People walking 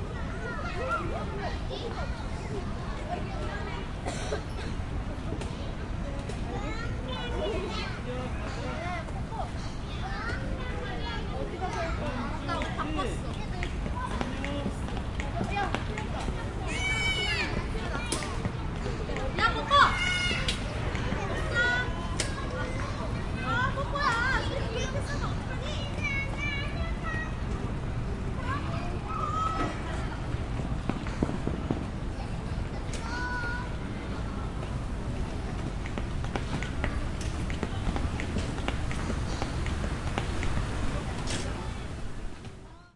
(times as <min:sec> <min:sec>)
0:34.2 0:42.7